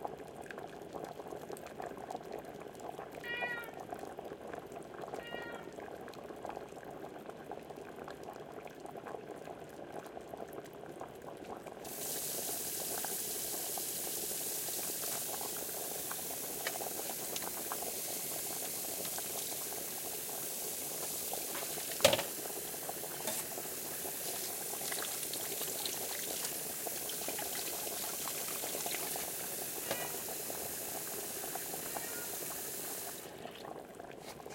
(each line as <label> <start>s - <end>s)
boiling water 0.0s - 34.5s
meows 3.2s - 3.8s
meows 5.1s - 5.9s
meows 29.8s - 30.2s
meows 31.8s - 32.5s